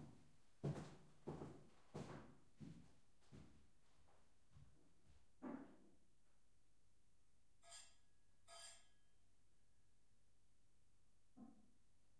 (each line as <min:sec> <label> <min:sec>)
0:00.1 steps on wooden floor 0:05.2